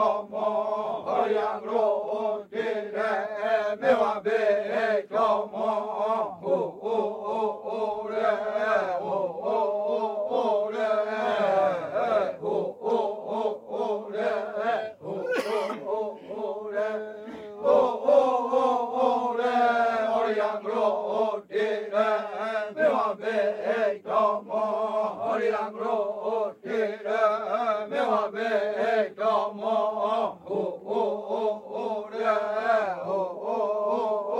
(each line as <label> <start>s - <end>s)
male voices 15.0s - 16.5s